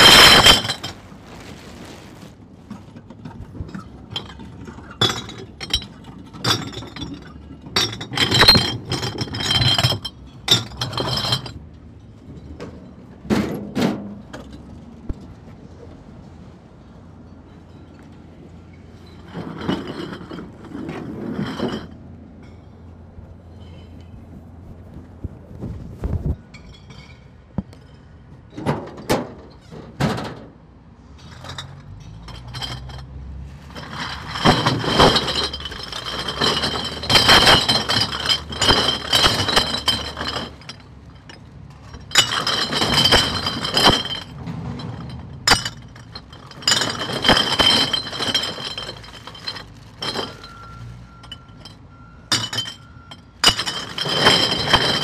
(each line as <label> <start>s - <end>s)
recycling beer bottles 0.0s - 1.5s
recycling beer bottles 2.7s - 11.6s
recycling beer bottles 33.6s - 51.7s
recycling beer bottles 52.3s - 55.0s